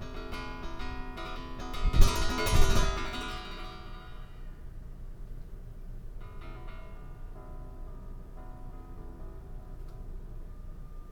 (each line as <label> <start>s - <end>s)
metal shelf in office, sounded by wind draft 0.0s - 4.6s